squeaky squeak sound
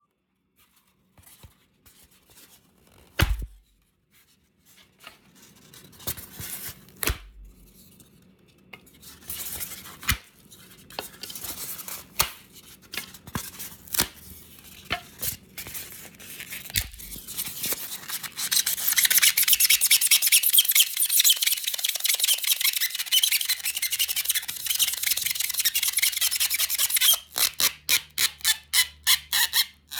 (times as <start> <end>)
18.9 29.9